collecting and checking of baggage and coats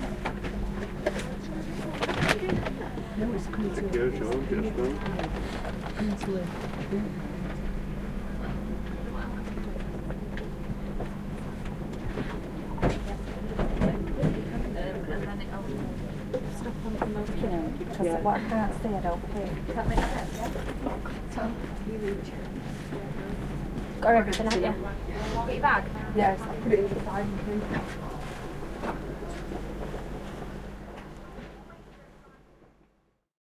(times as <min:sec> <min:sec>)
0:19.2 0:24.0